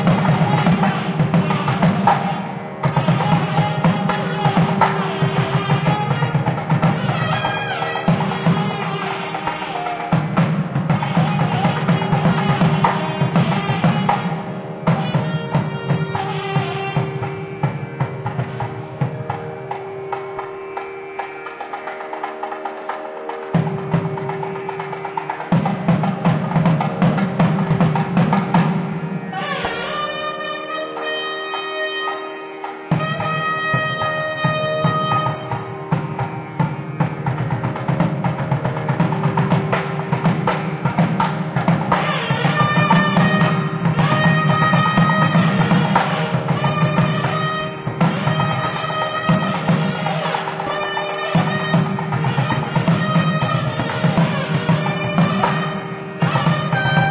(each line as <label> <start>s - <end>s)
Shehnai 0.0s - 57.1s
Tabla 0.0s - 57.1s
chant 0.0s - 57.1s
crowd 0.0s - 57.1s